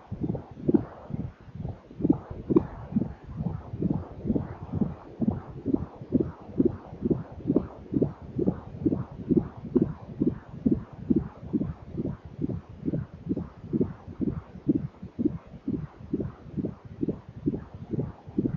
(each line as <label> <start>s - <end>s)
Baby fetal heart monitor 0.0s - 18.5s